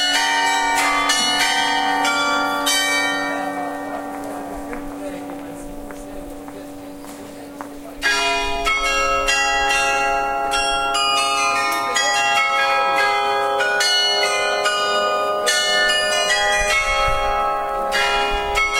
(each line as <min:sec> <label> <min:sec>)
0:07.8 ringing a chime 0:18.7